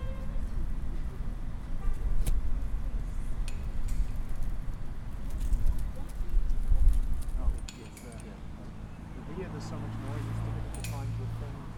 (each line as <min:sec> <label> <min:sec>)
0:07.6 cars sounds 0:11.7